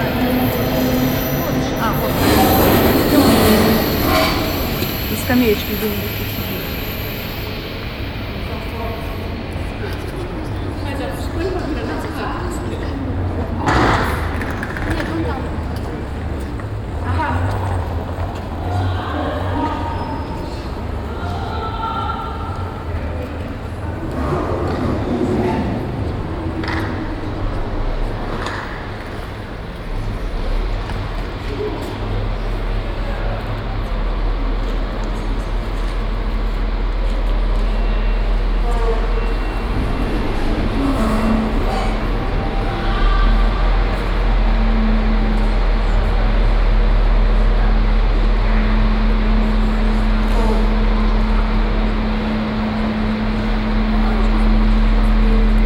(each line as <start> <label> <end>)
0.0 announcement 11.4
0.0 rolling suitcases passing a metal surface 21.6
0.0 trains passing by or entering the station 55.6
22.6 rolling suitcases passing a metal surface 55.6